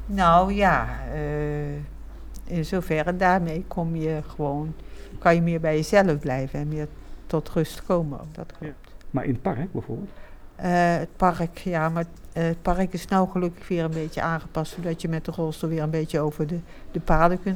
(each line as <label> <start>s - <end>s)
Antoinette praat 0.0s - 9.1s
Antoinette praat 10.1s - 17.5s